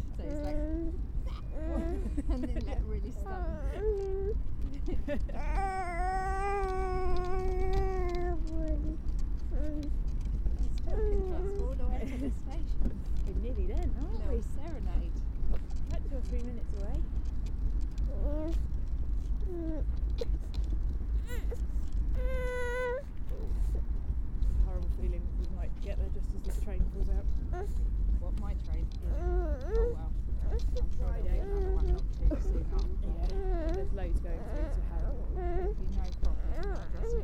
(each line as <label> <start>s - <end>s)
little growls and utterances 0.0s - 4.4s
distant traffic 0.0s - 37.2s
rumble of the pram 0.0s - 37.2s
little growls and utterances 5.2s - 11.9s
little growls and utterances 28.9s - 37.2s